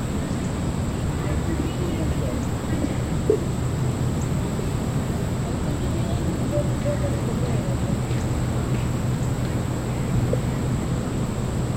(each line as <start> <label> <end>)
0.0 insects 11.7
5.5 people passed the recording rig by foot 11.0